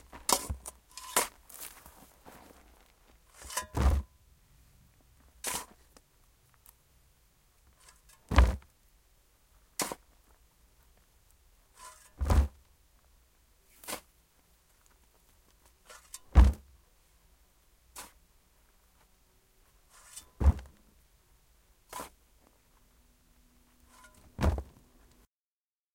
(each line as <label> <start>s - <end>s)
spade picking up soil 0.0s - 1.9s
soil falling to the bottom of the hole 0.0s - 4.2s
spade picking up soil 3.2s - 4.1s
spade picking up soil 5.4s - 5.9s
soil falling to the bottom of the hole 7.7s - 8.8s
spade picking up soil 7.8s - 8.7s
soil falling to the bottom of the hole 9.7s - 11.1s
spade picking up soil 9.8s - 10.1s
spade picking up soil 11.7s - 12.6s
soil falling to the bottom of the hole 13.6s - 16.8s
spade picking up soil 13.7s - 14.1s
spade picking up soil 15.6s - 16.7s
spade picking up soil 17.9s - 18.2s
soil falling to the bottom of the hole 17.9s - 18.3s
spade picking up soil 19.8s - 20.8s
spade picking up soil 21.8s - 22.2s
soil falling to the bottom of the hole 21.8s - 22.6s
spade picking up soil 23.8s - 24.8s